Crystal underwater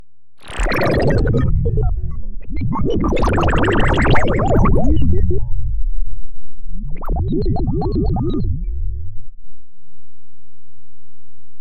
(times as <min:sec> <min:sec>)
0:00.4 0:05.5